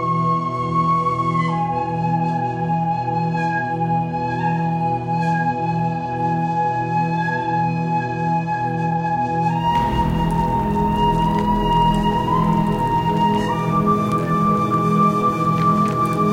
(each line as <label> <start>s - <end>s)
Flute Irish Whistle 0.0s - 16.3s
Drone 9.6s - 16.3s